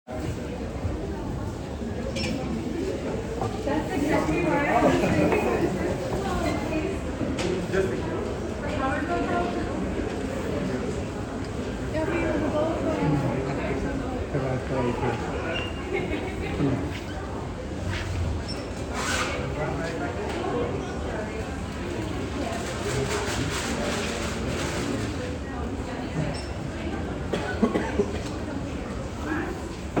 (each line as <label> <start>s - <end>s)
Dutch walla 0.2s - 30.0s